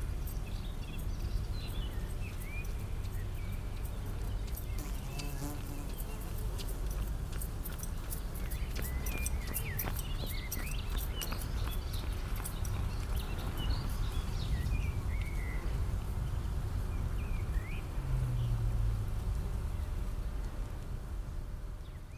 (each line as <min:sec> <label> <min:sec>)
0:00.0 Bees on the old railway 0:22.1